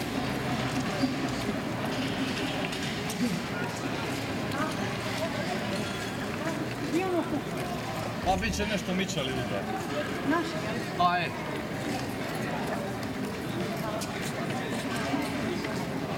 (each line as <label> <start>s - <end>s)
commentaries of citizens 3.1s - 16.1s